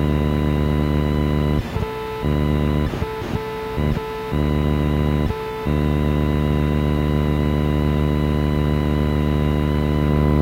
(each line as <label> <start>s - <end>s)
static 0.0s - 10.4s